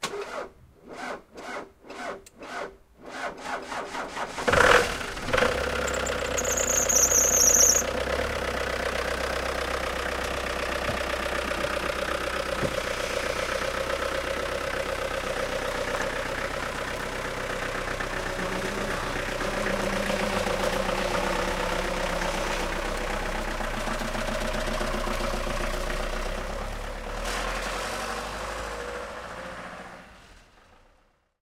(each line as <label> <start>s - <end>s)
Cold start of old diesel car 0.0s - 30.6s
drives off 4.1s - 30.7s
rattle 5.3s - 7.9s
belt-screeching sound 5.8s - 7.9s